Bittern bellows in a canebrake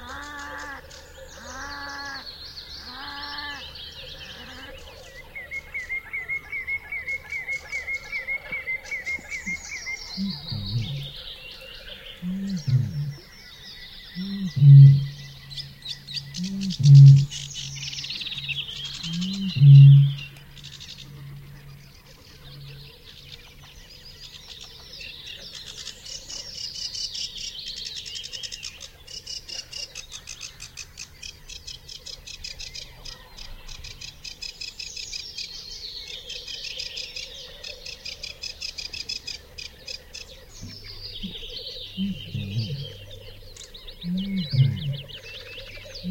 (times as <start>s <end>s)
10.2s 11.1s, 12.2s 13.2s, 14.2s 17.6s, 42.0s 43.1s, 44.1s 45.1s